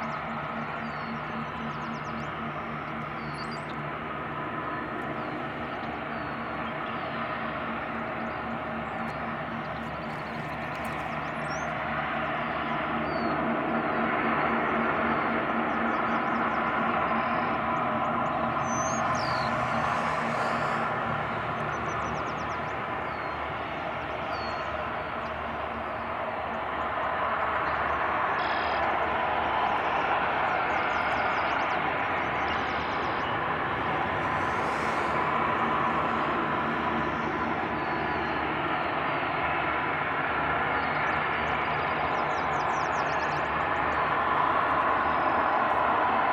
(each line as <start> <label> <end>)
19.4 Steam blowoff 21.5
33.9 Steam blowoff 36.5